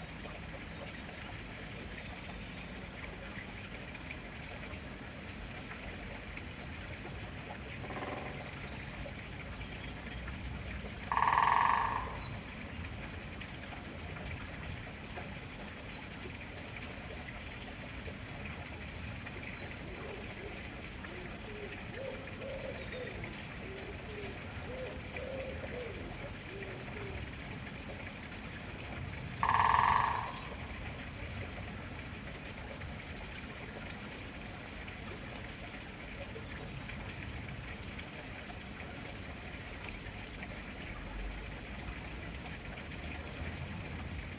running water sound is a neighbour's water feature 0.0 - 44.3
Woodpecker drumming 7.8 - 8.4
Woodpecker drumming 11.0 - 12.7
Woodpecker drumming 29.4 - 30.9

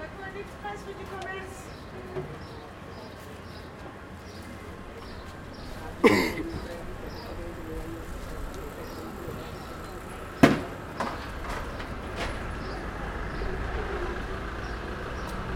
street ambience 0.0 - 15.5

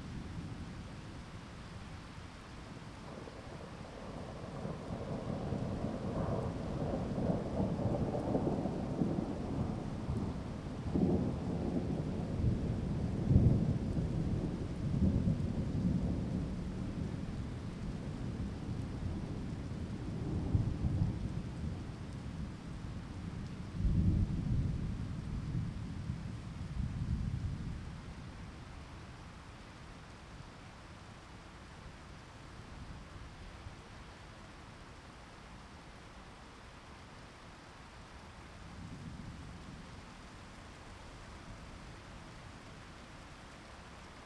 Thunderstorm 2.8 - 28.6

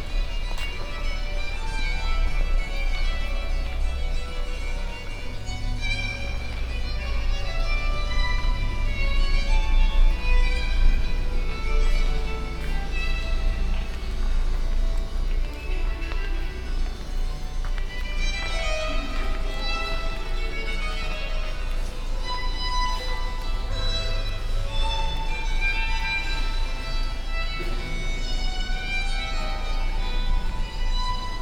Renaissance music 0.0 - 31.4
visitors in the big church hall 0.0 - 31.4

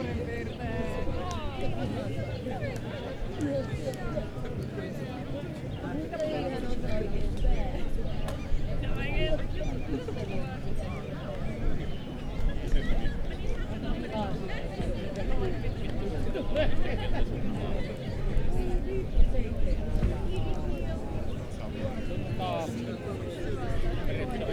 young people spending time with their friends 0.0 - 24.5

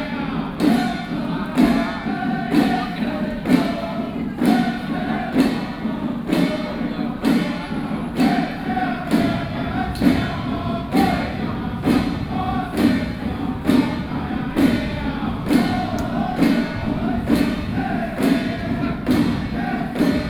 Traditional musical instruments 0.0 - 20.2

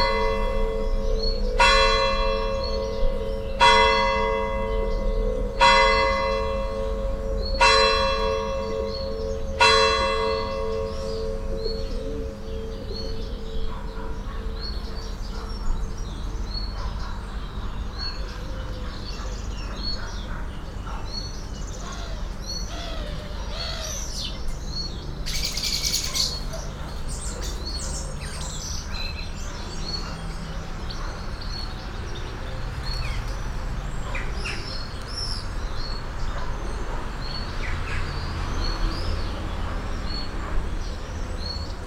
traffic from distance 0.0 - 41.8
murmuring pigeons 11.4 - 23.9

